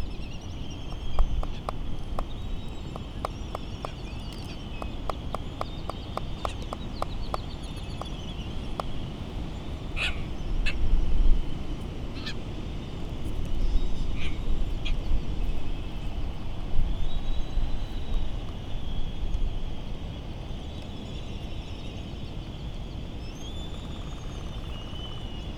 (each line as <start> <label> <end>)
0.0 island traffic noise 10.4
0.9 bill clapperings 9.0